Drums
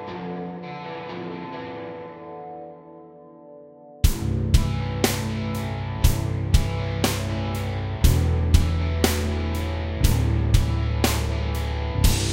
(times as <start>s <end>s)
4.0s 12.3s